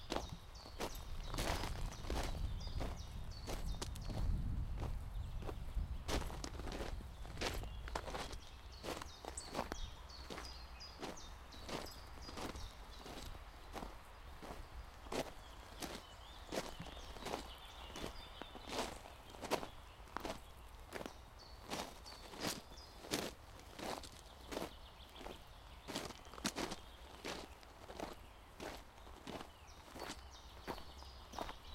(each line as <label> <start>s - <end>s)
Walking on a gravel forest road 0.0s - 31.7s
birds 0.0s - 31.7s